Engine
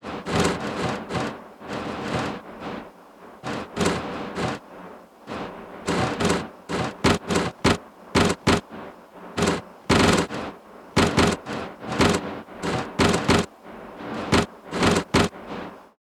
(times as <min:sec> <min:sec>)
0:00.1 0:02.4, 0:03.4 0:04.6, 0:05.3 0:08.7, 0:09.4 0:13.5, 0:14.2 0:15.4